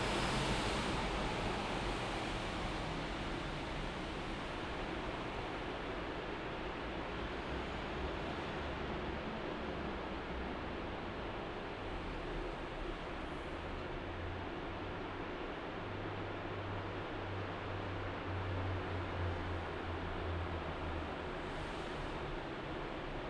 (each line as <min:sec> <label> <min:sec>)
0:00.0 pedestrians 0:16.1